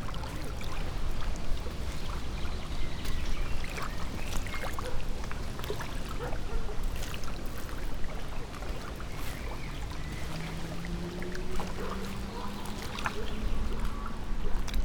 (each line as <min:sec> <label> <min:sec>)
0:00.0 waves 0:14.8
0:00.0 winds stirs water flow 0:14.8